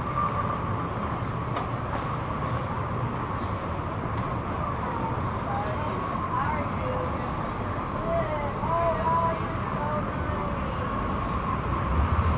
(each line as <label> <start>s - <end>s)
traffic 0.0s - 12.3s